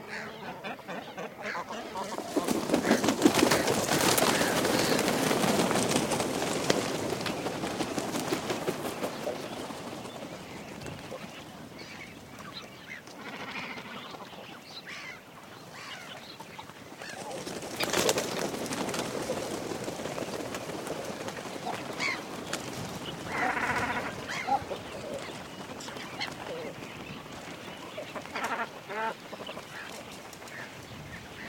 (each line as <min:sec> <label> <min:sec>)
0:00.0 seagulls 0:05.7
0:02.0 cormorants nest take off 0:11.6
0:20.1 seagulls 0:31.4